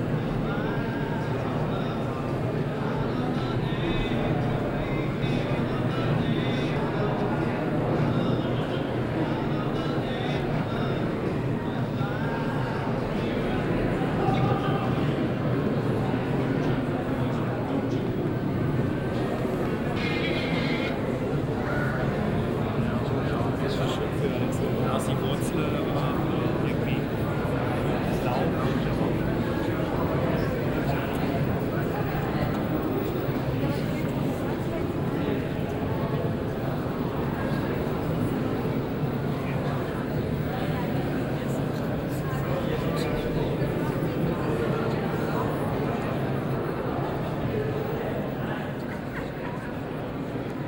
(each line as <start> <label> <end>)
0.0 people 50.6